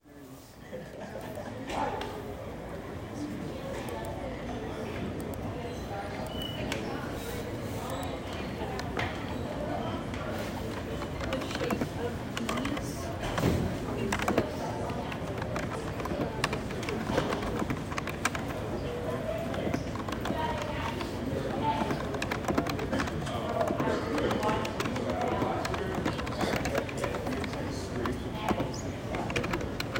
main sound of a computer lab 0:00.0 - 0:29.9
people talking 0:00.0 - 0:29.9
typing and clicking 0:07.8 - 0:29.9

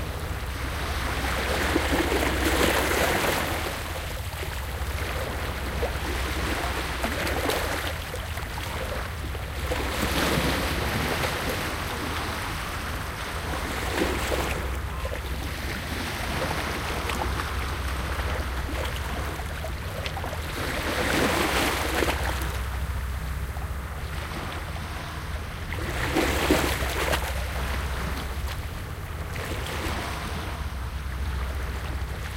waves 0:00.0 - 0:32.3

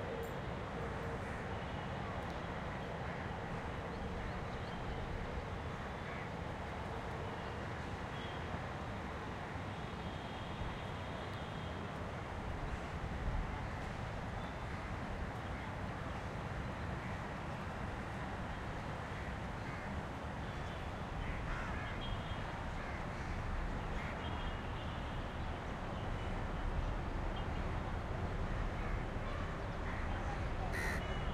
crows 0:21.2 - 0:22.0
nearby traffic 0:24.4 - 0:31.3
crows 0:30.7 - 0:31.2

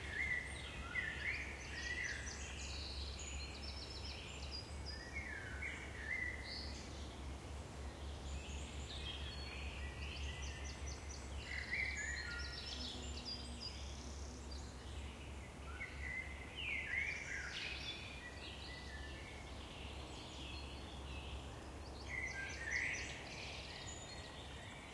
Birds 0:00.0 - 0:24.9

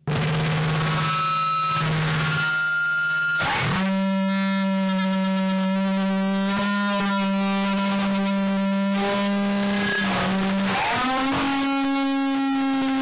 extreme feedback 0:00.0 - 0:13.0
guitar 0:00.0 - 0:13.0

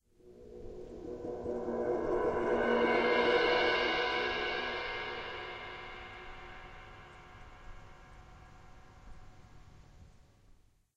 Suspended Cymbal Roll 0:00.1 - 0:09.8

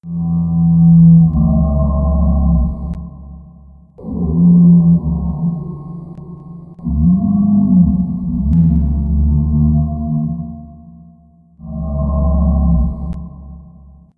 bigfoot 0:04.0 - 0:13.8

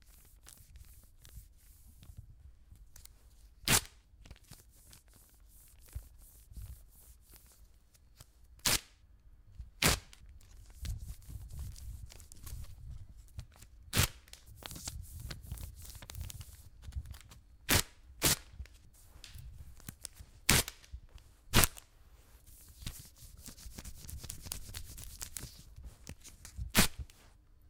woman waxing her legs 0:22.4 - 0:27.2

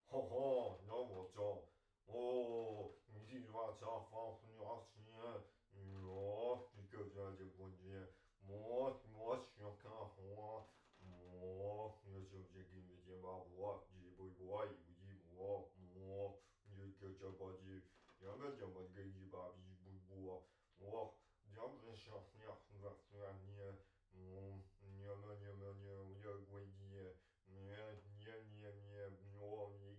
mumbling 0:00.1 - 0:14.6
mumbling 0:21.6 - 0:29.9

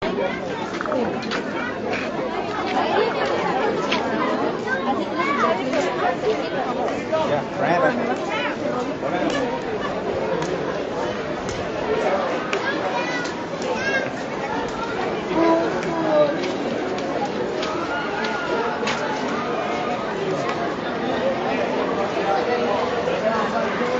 chatter and hustling about 0:00.0 - 0:23.9

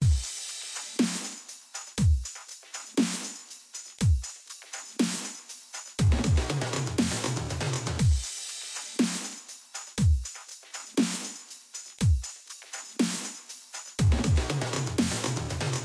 Drum sample 0:04.0 - 0:15.8

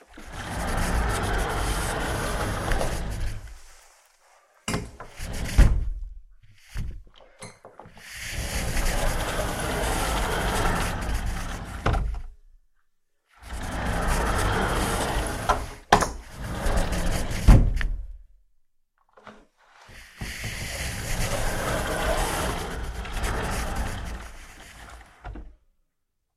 Sliding door 0:00.1 - 0:03.9
Sliding door 0:04.7 - 0:06.1
Sliding door 0:07.8 - 0:12.3
Sliding door 0:13.4 - 0:18.2
Sliding door 0:19.2 - 0:25.6

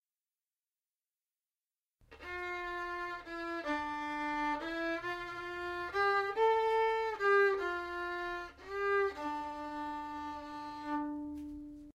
violin D string melody 0:02.0 - 0:11.9

